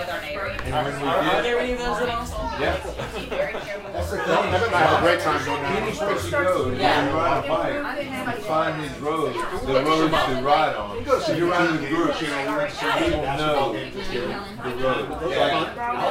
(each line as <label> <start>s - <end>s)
laughing 2.5s - 5.2s